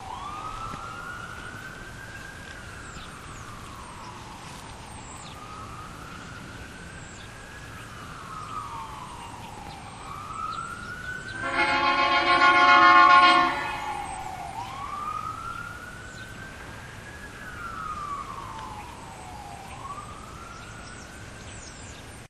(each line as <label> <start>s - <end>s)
ambulance siren 0.0s - 22.2s
blast from their air horn 11.4s - 13.9s